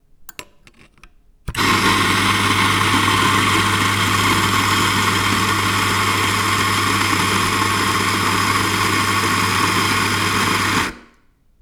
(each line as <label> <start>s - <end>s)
coffee grinder machine 1.5s - 11.2s